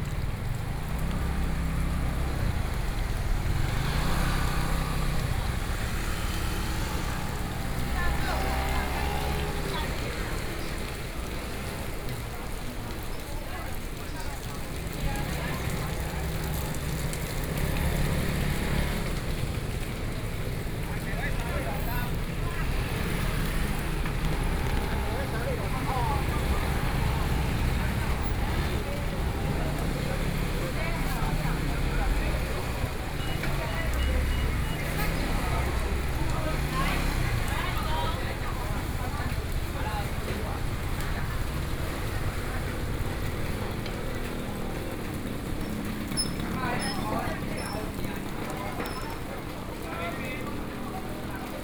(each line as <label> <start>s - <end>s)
Rainy Day 0.0s - 51.6s